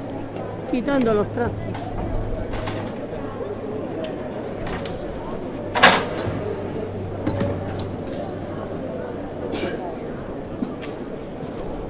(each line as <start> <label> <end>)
0.0 Military music corpse leaving 11.8